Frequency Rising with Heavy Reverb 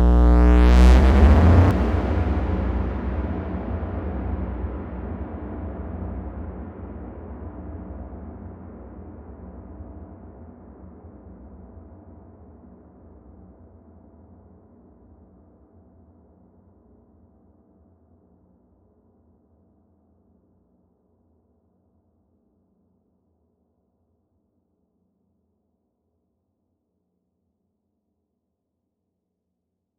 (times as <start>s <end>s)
0.0s 2.2s